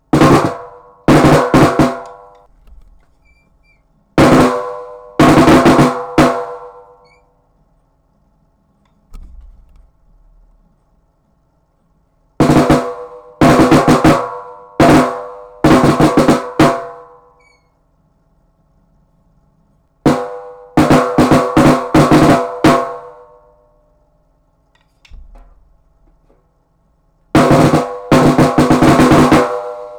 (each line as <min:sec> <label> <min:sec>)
0:00.1 Snare drum figures 0:07.2
0:27.4 Snare drum figures 0:29.9